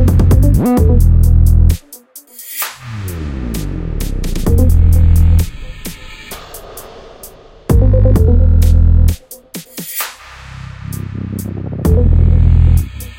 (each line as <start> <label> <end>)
0.0 808 kick 1.9
0.0 Thick, heavy 808 bass 1.9
1.7 reverse cymbal 7.7
2.8 Thick, heavy 808 bass 6.7
3.6 808 kick 6.9
7.7 Thick, heavy 808 bass 9.3
7.7 808 kick 10.2
7.7 light synth melody 8.6
10.0 reverberating (echo/delay) clap 10.6
10.7 Thick, heavy 808 bass 13.1
11.8 808 kick 13.1